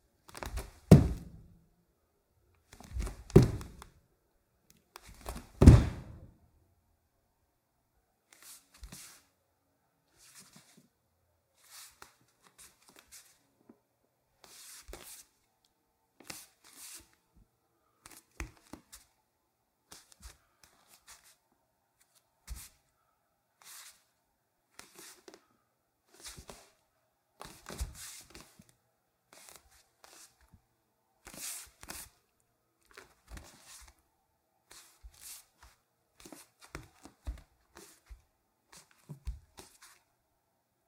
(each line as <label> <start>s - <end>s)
Jumping barefoot 0.3s - 1.4s
scuffs on a wood floor 0.3s - 1.4s
footsteps 0.4s - 1.4s
scuffs on a wood floor 2.8s - 3.8s
Jumping barefoot 2.8s - 3.8s
footsteps 2.9s - 3.8s
Jumping barefoot 5.1s - 6.3s
scuffs on a wood floor 5.1s - 6.3s
footsteps 5.2s - 6.3s